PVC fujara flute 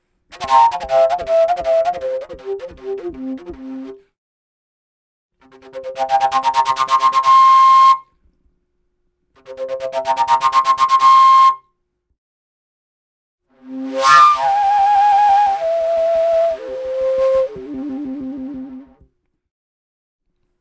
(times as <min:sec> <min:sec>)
0:00.3 0:04.0, 0:05.5 0:08.2, 0:09.5 0:11.7, 0:13.6 0:19.1